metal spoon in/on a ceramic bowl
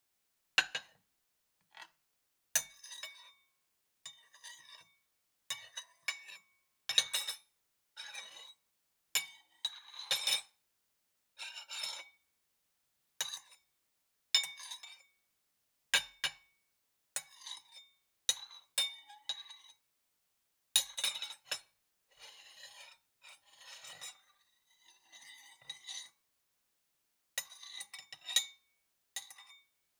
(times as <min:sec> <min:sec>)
0:27.4 0:28.6